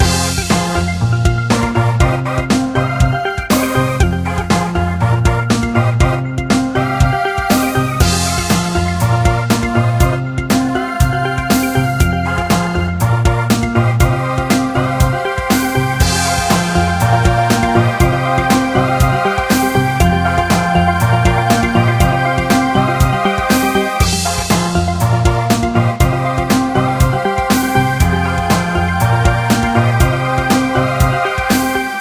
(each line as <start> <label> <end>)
0.0 music 32.0